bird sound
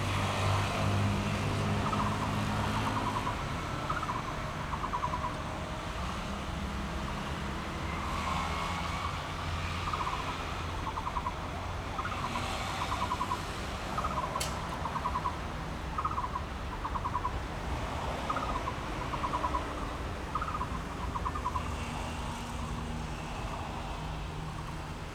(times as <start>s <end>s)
1.6s 5.4s, 9.6s 25.1s